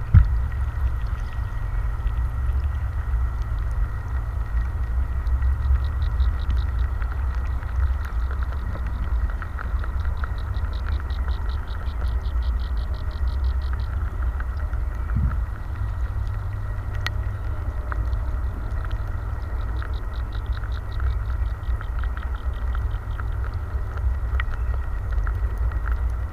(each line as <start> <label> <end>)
0.0 noise of the cars 26.3